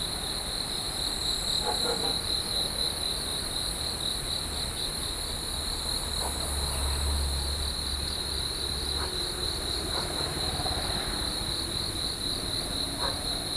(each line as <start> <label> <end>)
0.0 Cicadas 13.5
6.2 Traffic noise 13.5